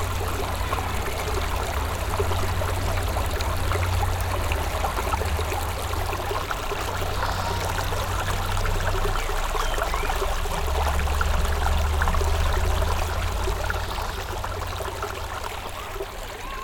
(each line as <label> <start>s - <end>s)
small vivid stream running 0.0s - 16.6s